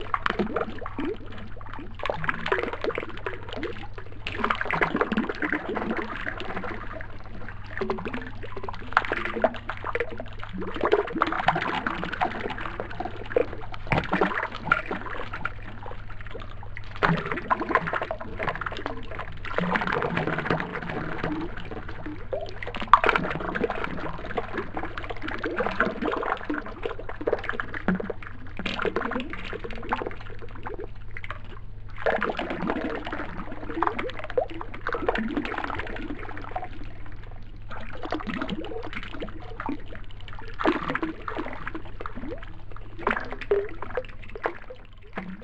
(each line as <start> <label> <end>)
0.0 WATER DRIPPING ECHO LOW PITCHED 45.4